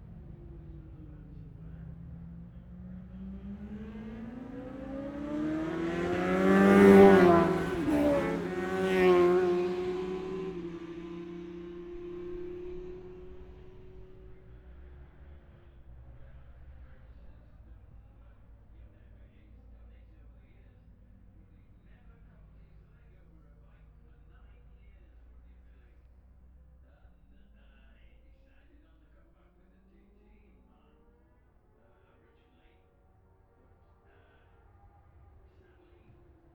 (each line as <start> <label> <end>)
0.0 road racing 36.5